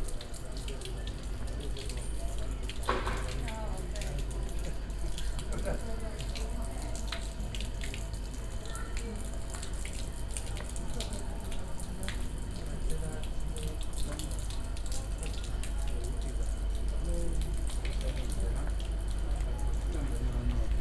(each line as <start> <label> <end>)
0.0 walking around narrow streets 20.8
0.1 residents conversations flowing out of the windows 20.8